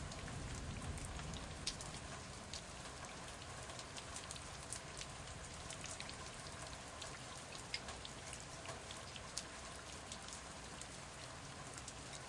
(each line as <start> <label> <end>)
0.0 rain hitting the stairs 7.1